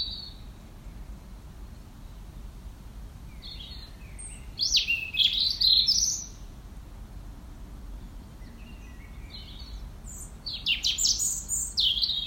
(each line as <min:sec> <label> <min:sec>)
0:03.3 Blackbirds 0:06.5
0:07.8 Blackbirds 0:12.2